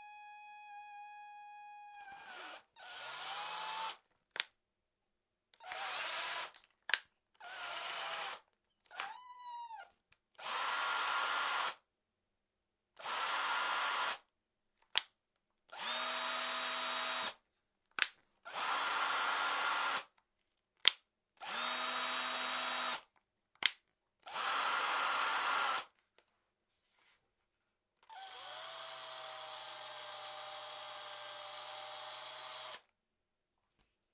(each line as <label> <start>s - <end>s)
click 14.8s - 15.1s